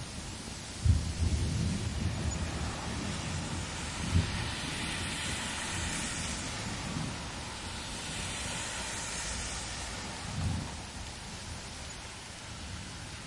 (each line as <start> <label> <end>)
0.0 cars passing by in the rain 13.2
0.0 rain gently falling 13.2
0.8 distant rumbling of thunder 7.5